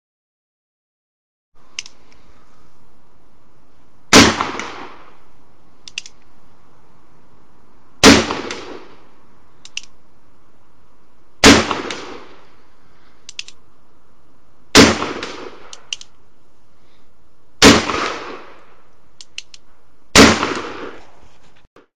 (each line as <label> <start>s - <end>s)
Six shots from a Rogers & Spencer black powder revolver 4.1s - 5.1s
Six shots from a Rogers & Spencer black powder revolver 8.0s - 9.0s
clicks are the hammer being cocked 9.6s - 10.0s
Six shots from a Rogers & Spencer black powder revolver 11.4s - 12.5s
clicks are the hammer being cocked 13.3s - 13.6s
Six shots from a Rogers & Spencer black powder revolver 14.7s - 16.0s
Six shots from a Rogers & Spencer black powder revolver 17.6s - 18.6s
Six shots from a Rogers & Spencer black powder revolver 20.1s - 21.0s